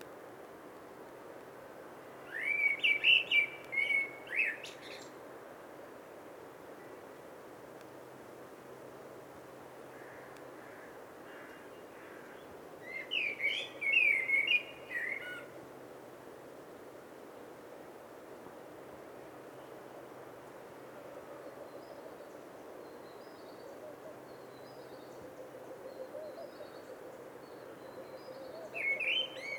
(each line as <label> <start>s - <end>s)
Birds 21.2s - 29.5s